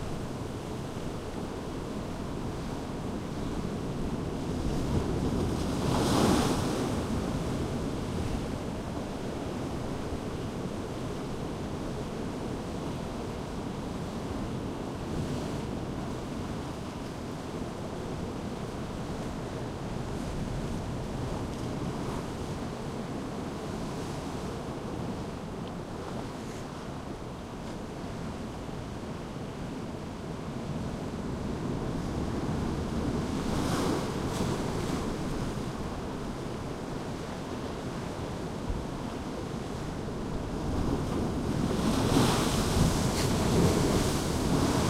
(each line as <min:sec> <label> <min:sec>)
0:38.7 waves breaking and splashing 0:44.8